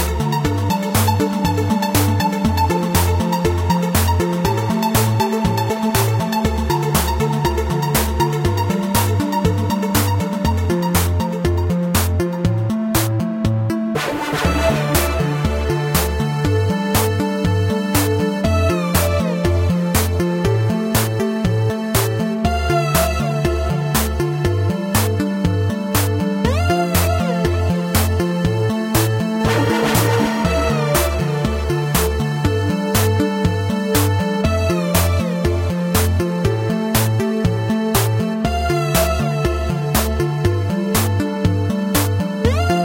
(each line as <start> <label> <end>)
29.4 Electrobeep track loop 32.1